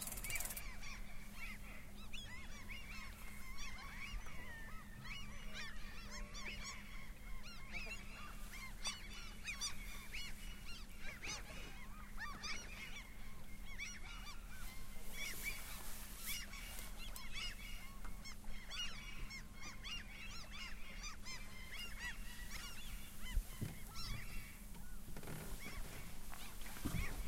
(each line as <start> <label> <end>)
0.0 seagulls 27.2
0.0 waves 27.2